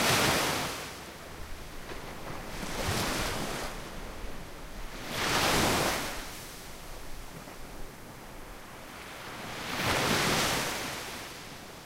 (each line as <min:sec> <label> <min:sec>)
0:00.0 waves 0:11.8